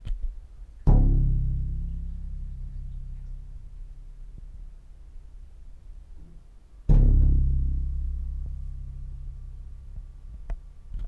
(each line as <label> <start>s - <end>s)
string 0.0s - 11.0s